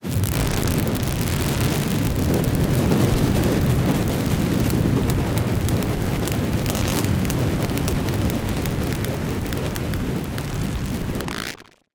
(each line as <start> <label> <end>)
0.0 Fire 11.9